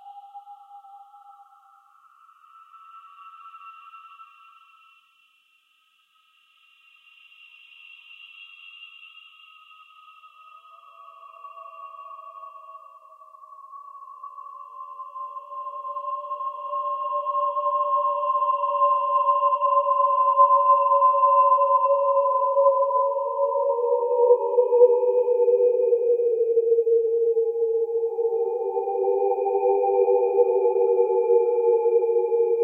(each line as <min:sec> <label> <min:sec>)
0:23.4 scary noises 0:32.6